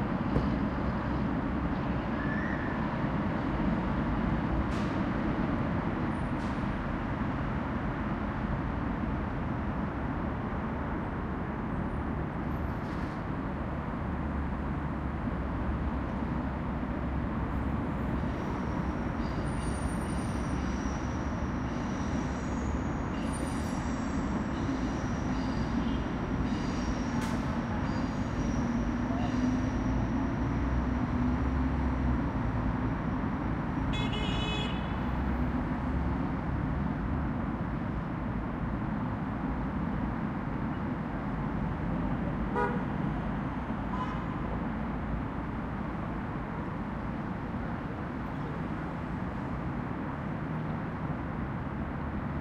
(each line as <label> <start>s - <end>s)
traffic 0.0s - 52.4s
car horns bleeping loudly 42.5s - 42.8s